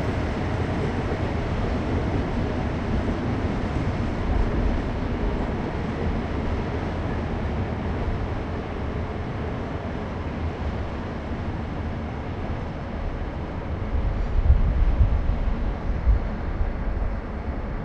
passing by cargo train 0.0 - 17.8

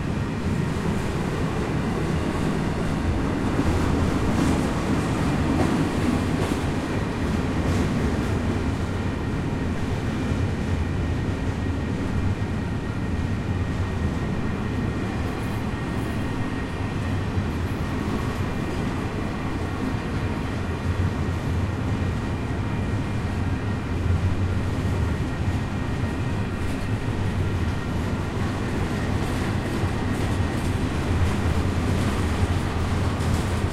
train going by on tracks 0.0 - 33.7

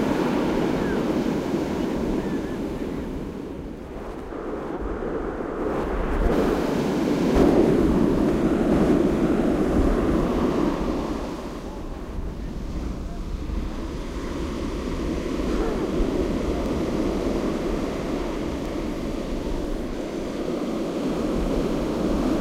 Pacific Ocean 0.0 - 22.4
seagulls 0.1 - 3.2

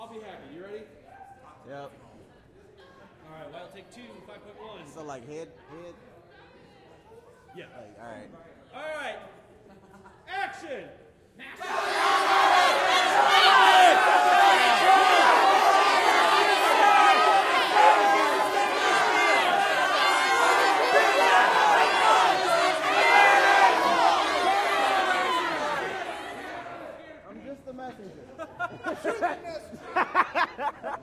Riot Crowd 11.4 - 27.2
Riot Crowd 28.4 - 31.0

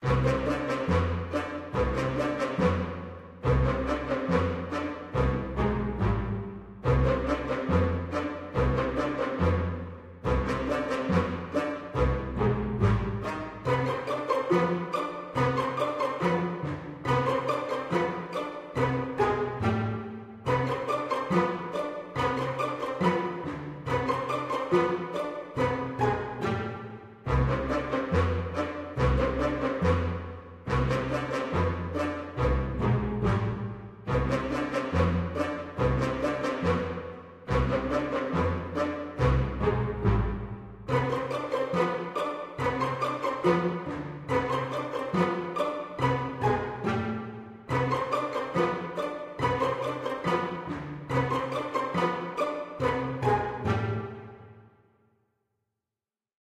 violin 0.0 - 54.6
brass 0.0 - 54.7

